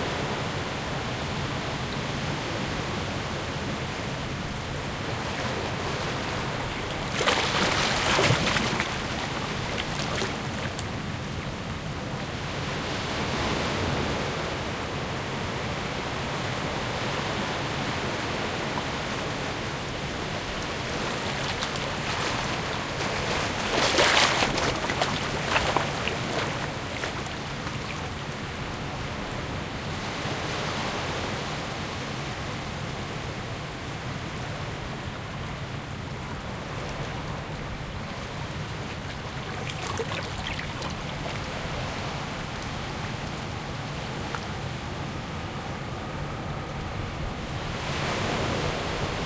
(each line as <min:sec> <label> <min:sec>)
0:00.0 waves in a medium strength breeze 0:49.2
0:03.9 distinct gentle water splashing 0:12.6
0:19.6 distinct gentle water splashing 0:29.5
0:35.2 distinct gentle water splashing 0:45.4